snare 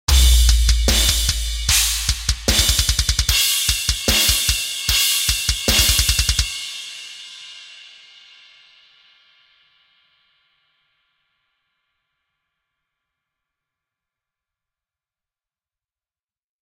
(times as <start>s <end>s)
0.1s 6.4s